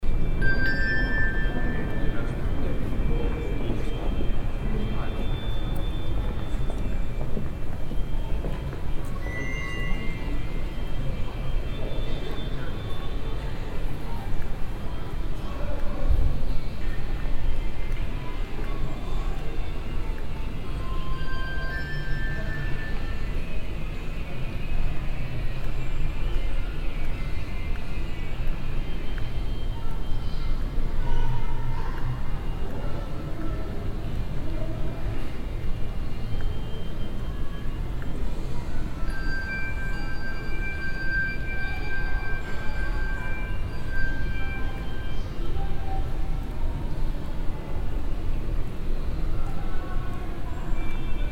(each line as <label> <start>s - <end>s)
electric bells of a sound installation 0.0s - 7.1s
electric bells of a sound installation 20.8s - 24.1s
electric bells of a sound installation 38.1s - 45.8s